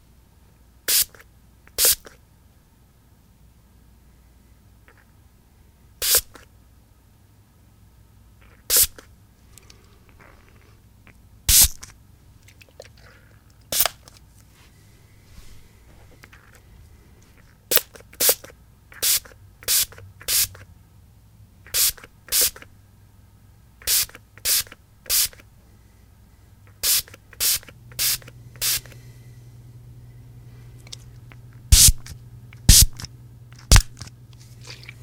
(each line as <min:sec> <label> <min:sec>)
0:00.9 spray bottle squirting out mist 0:01.2
0:01.8 spray bottle squirting out mist 0:02.2
0:06.0 spray bottle squirting out mist 0:06.4
0:08.6 spray bottle squirting out mist 0:09.1
0:11.5 spray bottle squirting out mist 0:11.9
0:13.7 spray bottle squirting out mist 0:14.1
0:17.7 spray bottle squirting out mist 0:20.6
0:21.7 spray bottle squirting out mist 0:22.7
0:23.8 spray bottle squirting out mist 0:25.4
0:26.7 spray bottle squirting out mist 0:29.0
0:31.7 spray bottle squirting out mist 0:34.1